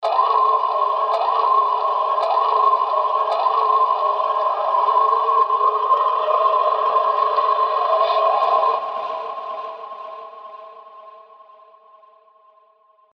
Heavy processed scream-like sound 0:00.0 - 0:12.0

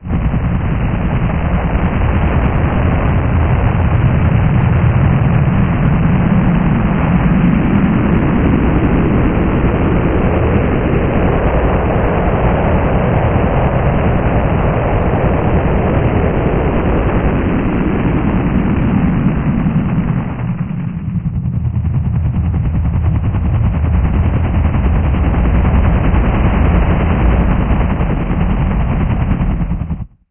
hovering special forces chopper 0:00.0 - 0:30.2

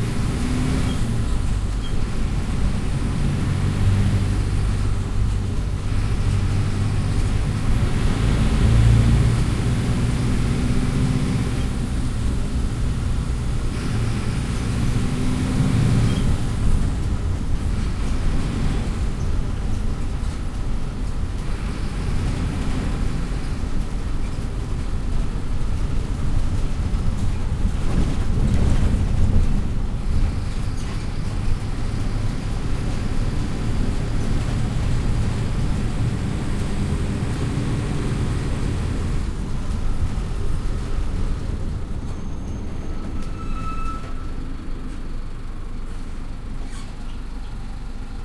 bus 0:00.0 - 0:48.2

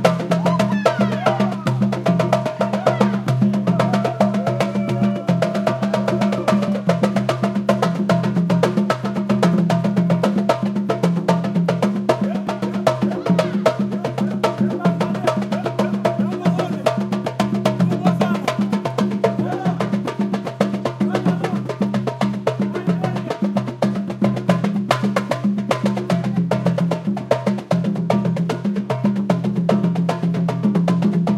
African drum jam 0:00.0 - 0:31.3

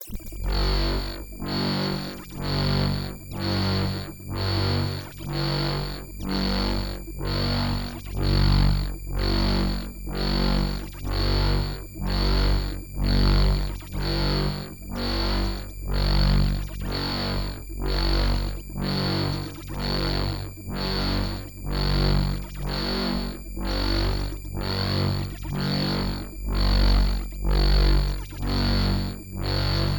alien alarm sound 0:00.0 - 0:29.9

